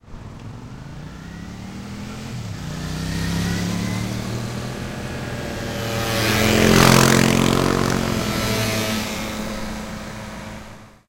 0.0s motorcycles passing in succession 11.0s

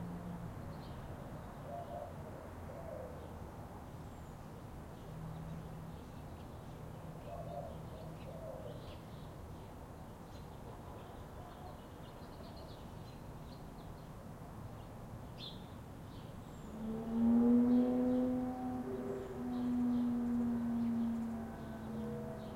0.0s distant cars 9.2s
14.2s distant cars 22.5s

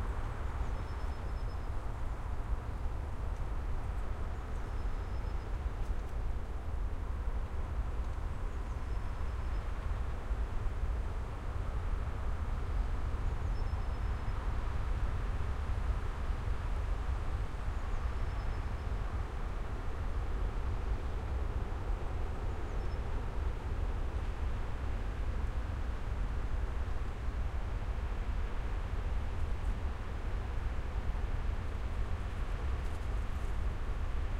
0.0s windy forest 34.3s

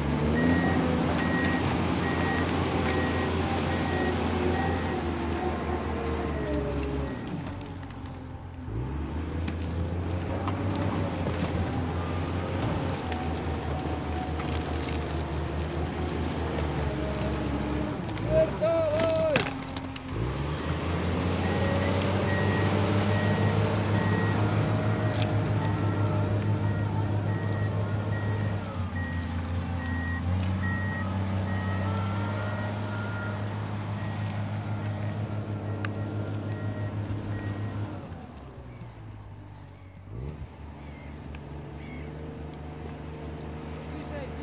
0.0s Tracktor starts working crushing garbage 40.6s
0.3s beeps during reverse gear 5.1s
6.4s beeps during reverse gear 7.4s
21.4s beeps during reverse gear 38.0s

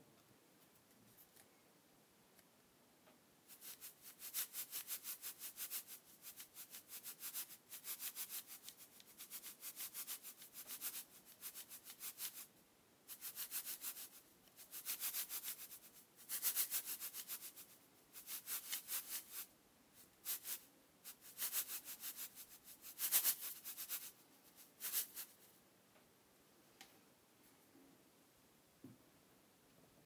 3.5s salt shaking flour 25.5s

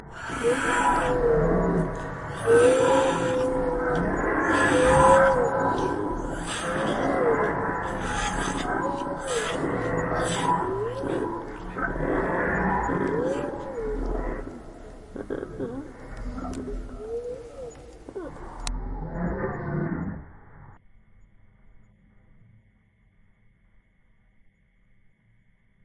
0.0s Raptors 20.2s

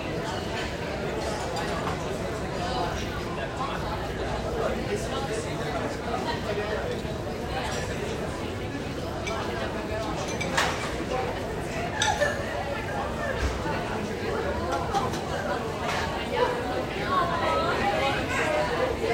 10.2s silverware 11.0s

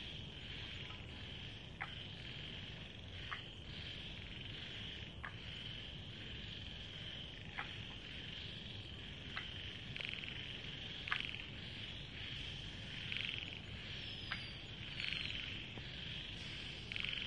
0.0s Frogs 17.2s
0.0s Insects 17.2s

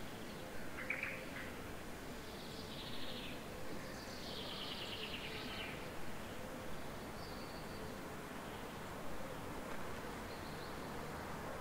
0.0s Near street-noice 11.6s
0.2s several birds 11.6s

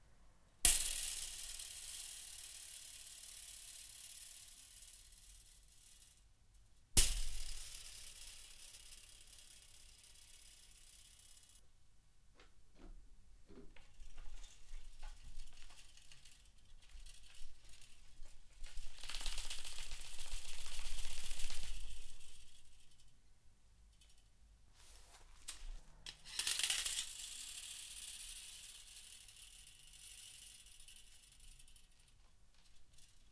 13.9s old metal rake shake 23.1s
24.9s old metal rake shake 33.3s

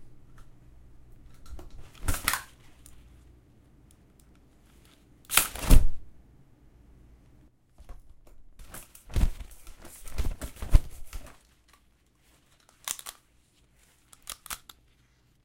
1.8s Umbrella openAndClose 2.8s
4.8s Umbrella openAndClose 6.0s
7.8s Umbrella openAndClose 11.8s

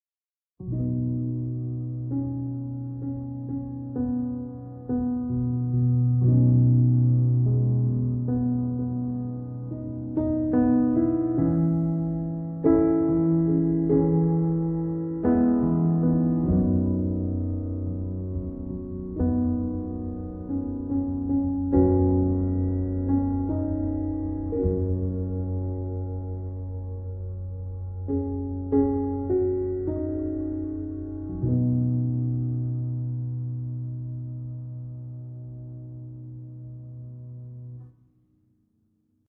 0.6s Light Piano Noodling 38.0s

